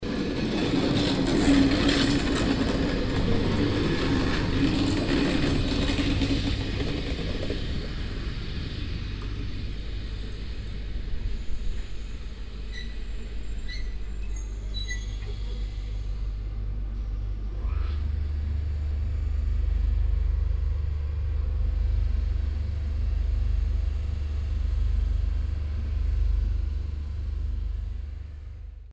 railroad track and the trains wheels 0:00.0 - 0:21.6

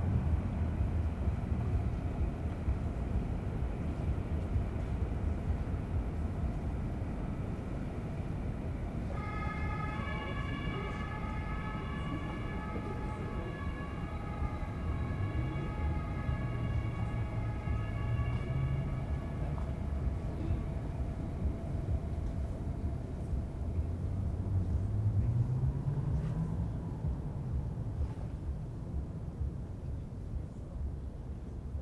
trains 0:00.0 - 0:31.8
sirens 0:09.0 - 0:23.9

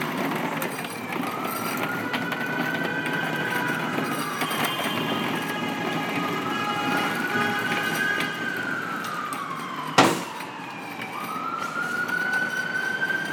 sidewalk constructions 0:00.0 - 0:13.3
sirens 0:00.0 - 0:13.3
traffic 0:00.0 - 0:13.3
wheeled trash can 0:00.0 - 0:11.2

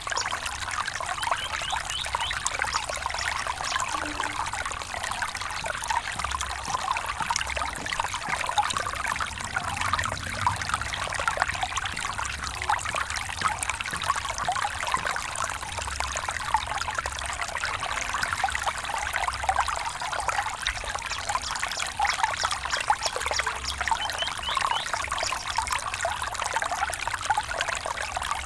Little Stream 0:00.0 - 0:28.4
subtle human and bird activity 0:01.1 - 0:04.4
subtle human and bird activity 0:20.7 - 0:25.8

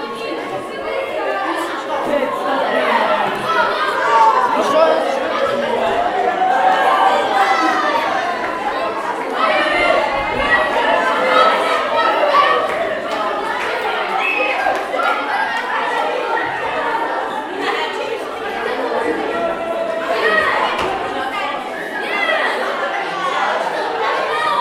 School break in the Hall 0:00.0 - 0:24.6

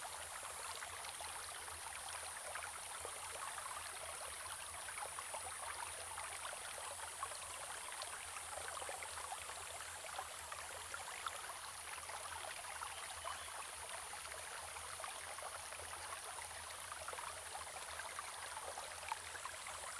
Small streams 0:00.0 - 0:19.9

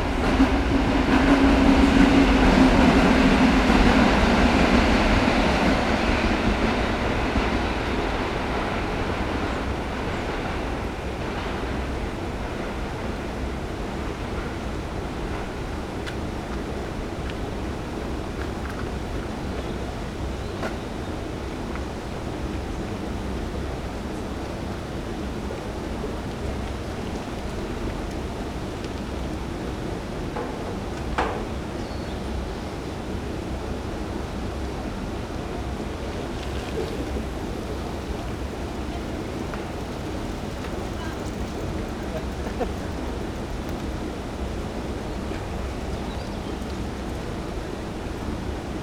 trains 0:00.0 - 0:48.8
gush of water 0:36.0 - 0:43.2
bikes 0:36.1 - 0:48.5
voices of nearby strollers 0:36.3 - 0:47.3
runners 0:37.2 - 0:44.2

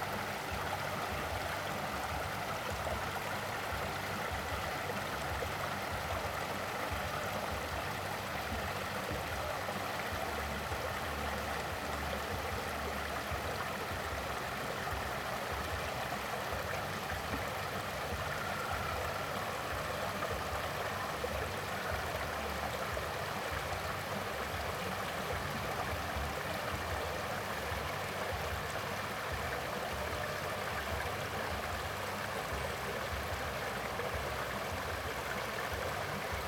stream 0:00.0 - 0:36.4

